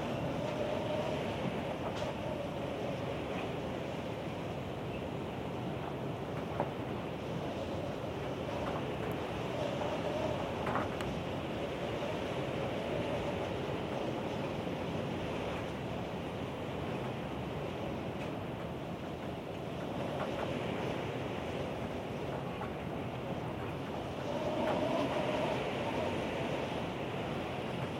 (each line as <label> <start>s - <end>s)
heavy windstorm 0.0s - 27.9s